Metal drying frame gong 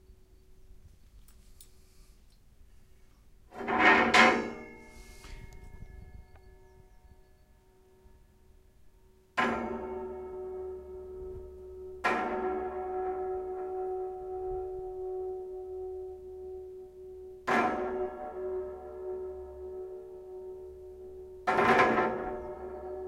9.1 23.0

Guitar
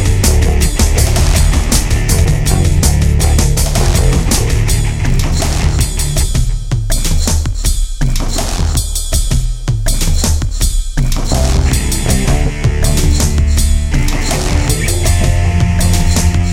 0.0 7.4, 11.0 16.5

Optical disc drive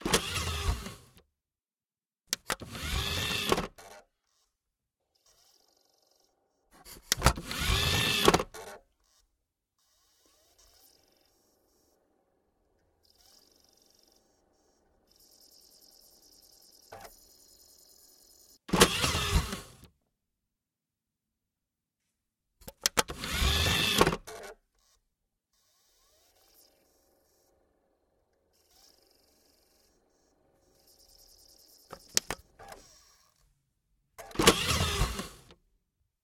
0.0 1.0, 2.4 4.0, 7.0 8.7, 15.1 19.8, 23.0 24.5, 30.6 32.9, 34.2 35.5

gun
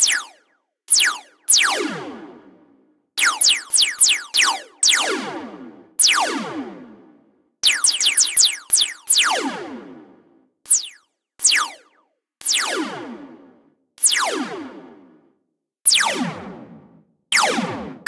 17.3 18.0

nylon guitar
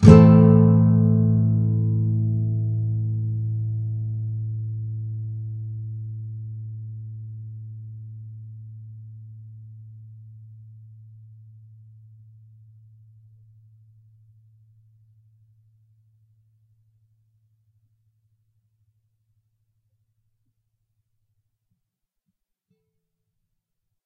0.0 10.9

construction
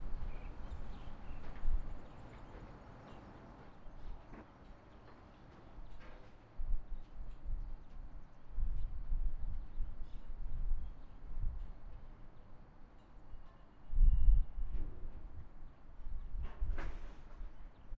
0.1 8.5, 16.4 17.9

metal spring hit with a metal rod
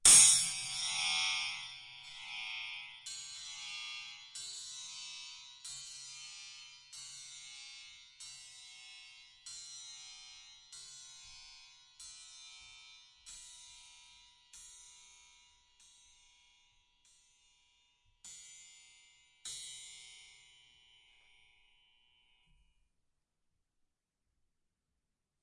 0.0 1.2

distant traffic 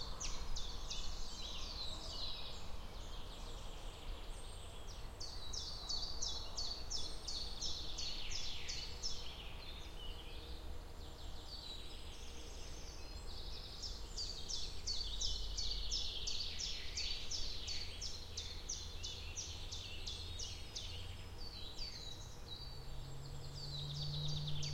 19.6 24.7

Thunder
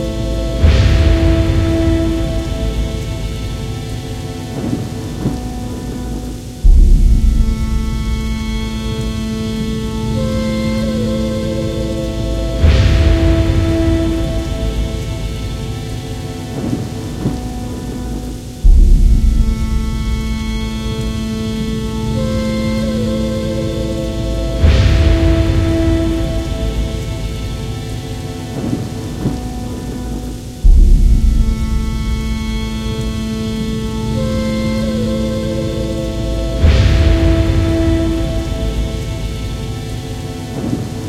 0.4 9.6, 12.5 21.2, 24.6 33.2, 36.6 41.0

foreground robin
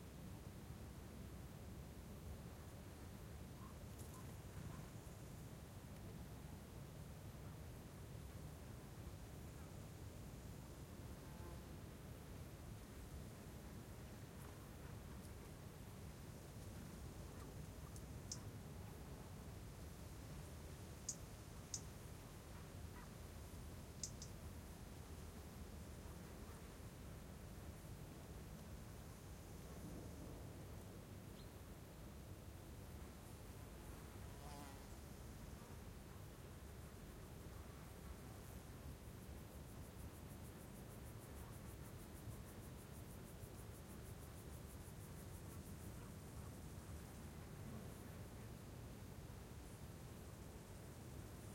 24.0 24.4

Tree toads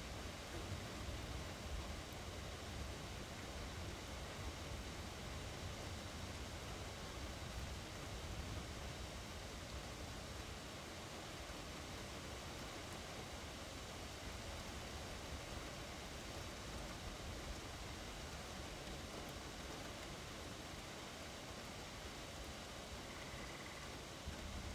23.0 24.0

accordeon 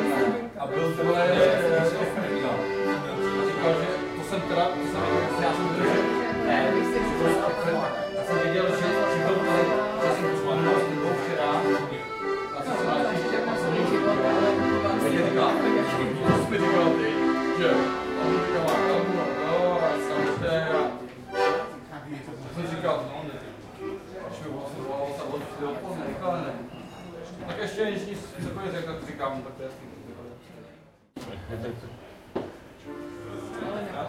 0.0 22.9

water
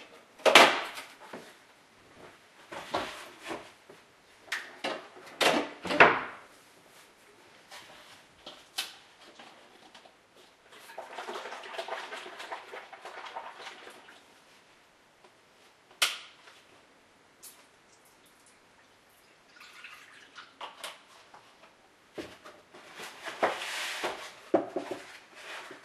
10.6 14.4, 17.9 20.8

